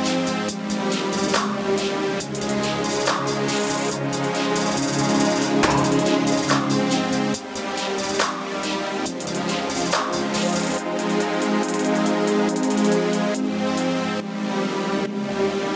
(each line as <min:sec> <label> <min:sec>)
0:00.0 music 0:15.7